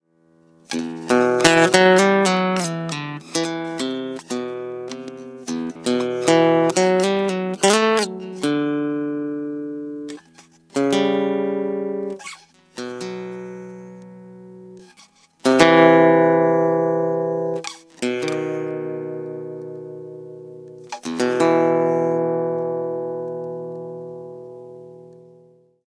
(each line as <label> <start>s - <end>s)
Short guitar riff 0.7s - 25.6s